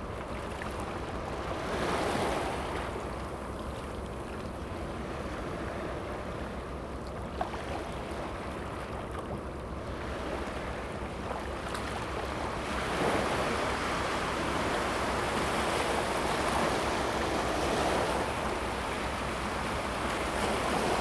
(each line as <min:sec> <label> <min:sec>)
0:09.9 the waves 0:21.0